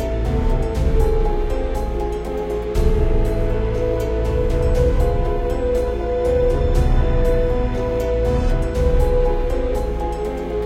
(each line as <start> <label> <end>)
0.0 piano 10.6